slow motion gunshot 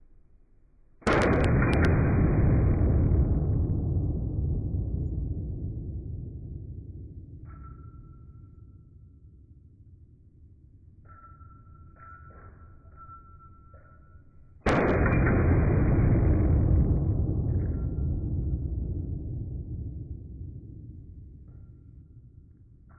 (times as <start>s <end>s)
1.0s 8.4s, 14.6s 22.9s